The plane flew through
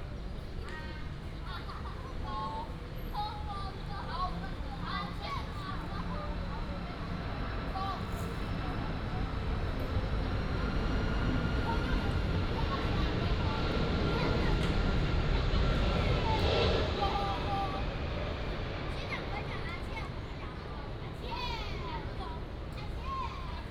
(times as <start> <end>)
5.9 20.4